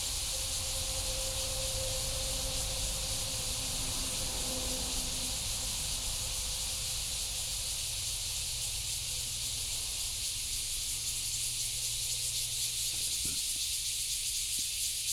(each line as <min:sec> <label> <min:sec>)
0:00.0 Cicadas sound 0:15.1